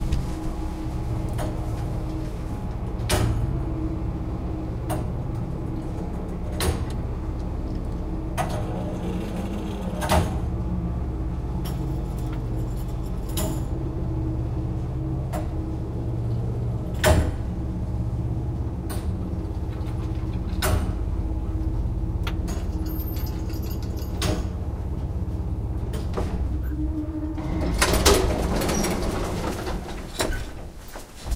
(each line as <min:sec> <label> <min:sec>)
0:00.0 movement noise 0:03.0